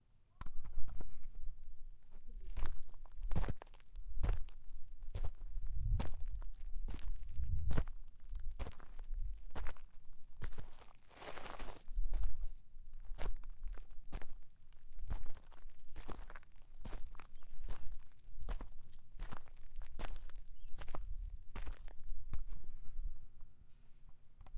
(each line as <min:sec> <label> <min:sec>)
0:00.0 crickets 0:24.5
0:00.4 wind noise 0:10.7
0:00.4 Walking on sand/gravel on concrete 0:23.4
0:11.6 wind noise 0:16.3
0:17.0 wind noise 0:23.4